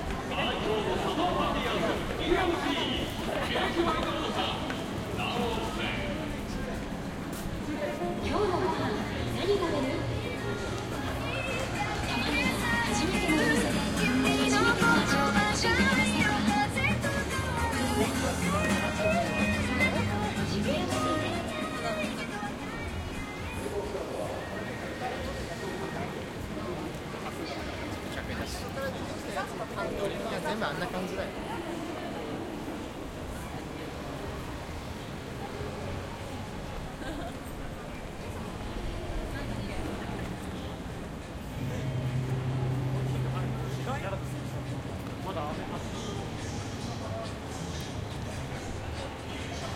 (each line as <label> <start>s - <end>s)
people 0.0s - 49.7s
music 7.4s - 24.3s
music 45.6s - 49.7s